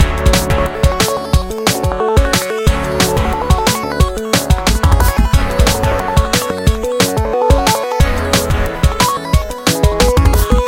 0.0s arpeggiator 10.6s

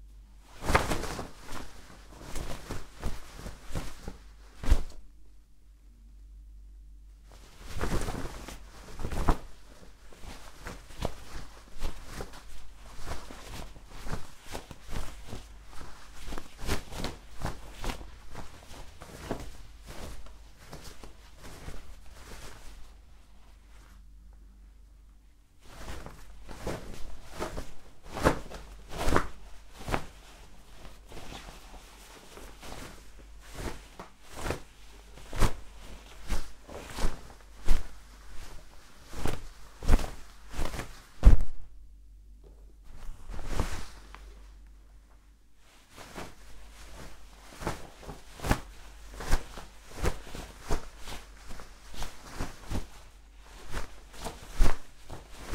0.4s Flappy bed covers 5.1s
7.2s Flappy bed covers 24.0s
25.5s Flappy bed covers 41.8s
42.4s Flappy bed covers 44.7s
45.6s Flappy bed covers 55.5s

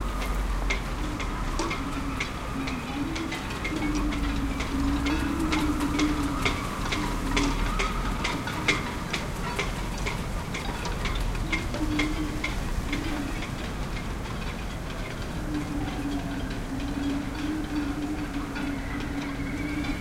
0.0s wind blows through the shrouds 20.0s

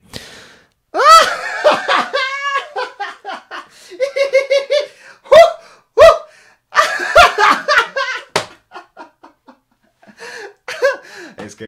1.0s man laugh laughter 4.9s
6.8s man laugh laughter 11.1s

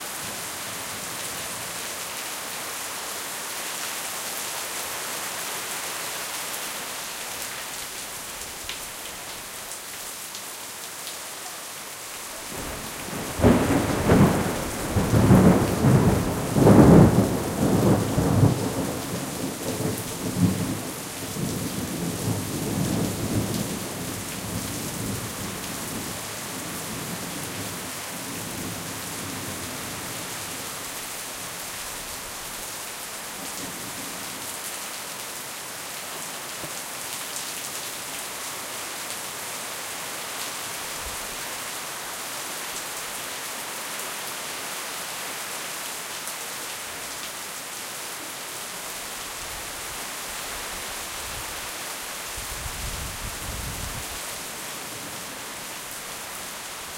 0.0s Tropical rain 56.9s
12.6s thunder 19.1s

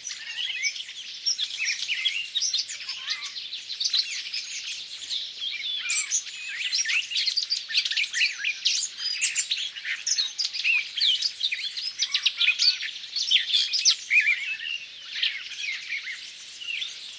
0.0s other birds in background 17.1s

